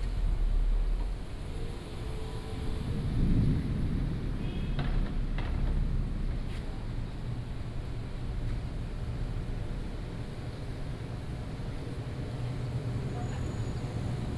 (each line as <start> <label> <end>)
0.0 Traffic noise 14.3
0.0 Walking in a small alley 14.3